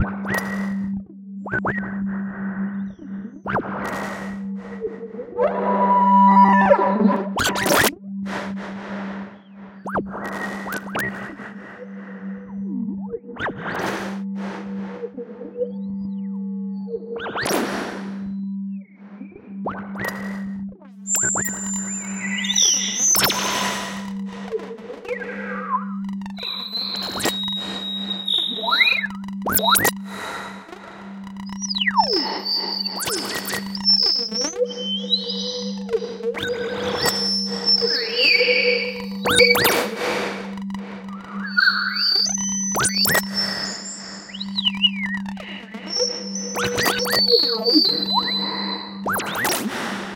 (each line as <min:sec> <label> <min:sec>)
0:02.7 synth 0:13.5
0:21.1 synth 0:49.8